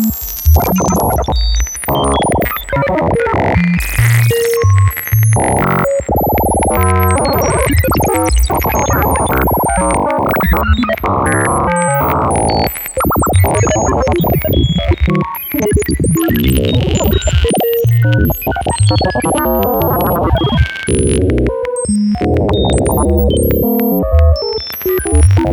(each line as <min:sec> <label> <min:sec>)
0:00.0 Sci-Fi Computer Ambience 0:25.5